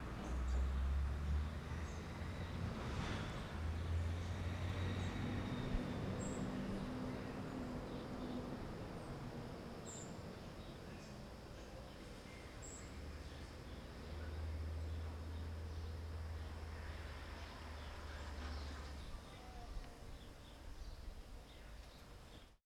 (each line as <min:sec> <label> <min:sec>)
0:00.0 cars and scooters rifding by 0:11.4
0:10.2 People talking 0:15.2
0:16.7 People talking 0:21.8